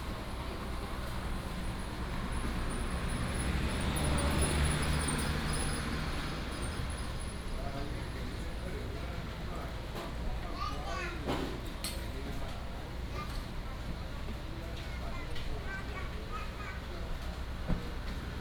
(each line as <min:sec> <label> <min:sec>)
0:00.0 traffic sound 0:08.9